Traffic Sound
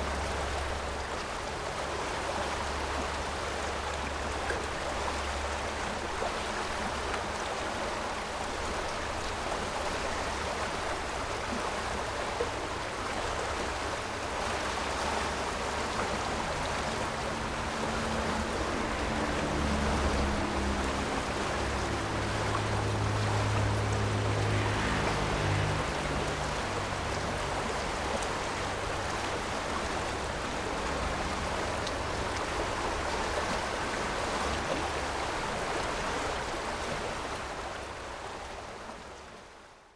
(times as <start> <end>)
14.0 37.0